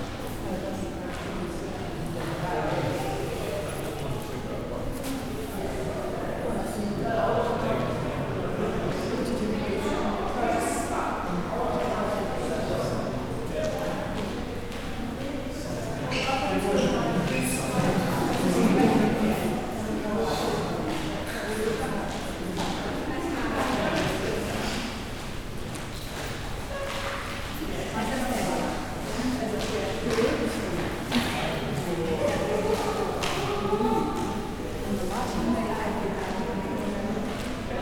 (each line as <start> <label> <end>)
0.0 school groups coming in and out of the room 37.8